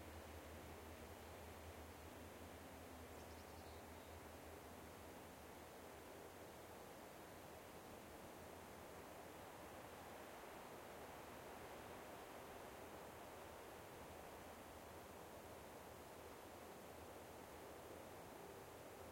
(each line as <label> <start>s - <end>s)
light wind in nearby coniferous trees 0.0s - 19.1s